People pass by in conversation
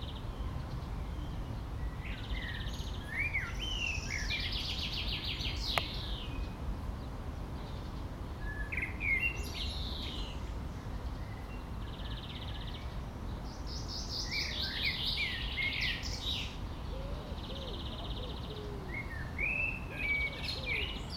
15.5 21.1

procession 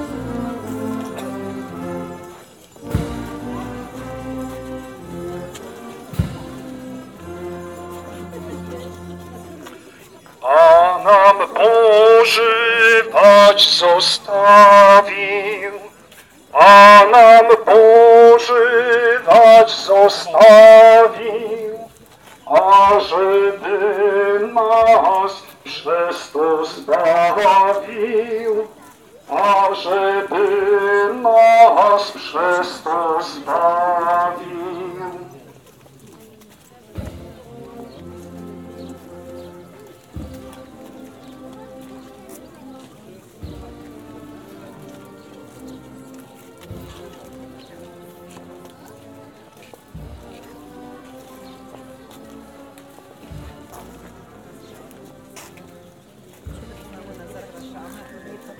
16.5 21.8

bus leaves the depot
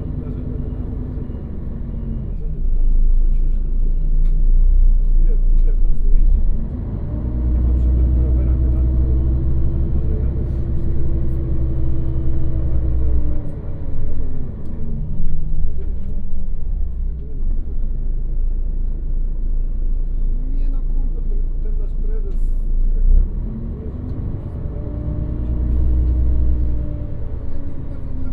0.0 3.1, 6.5 20.1, 23.2 28.3

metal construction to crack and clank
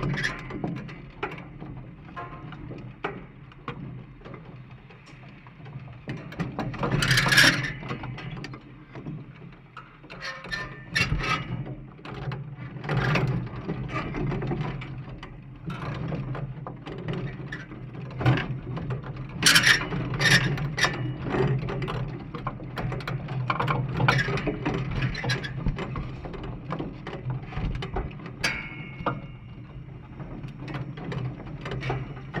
28.4 29.8

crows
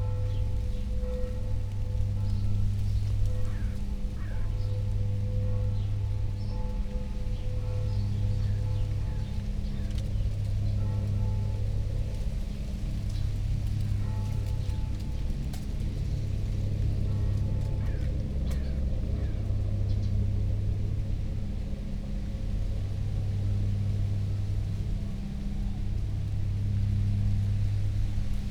3.4 4.8, 17.8 19.4

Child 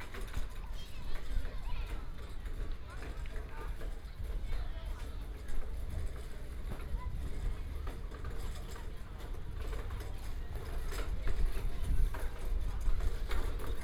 0.1 3.0

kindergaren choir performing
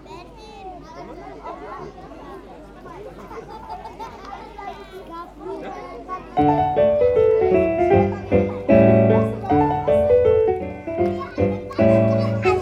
6.4 12.6

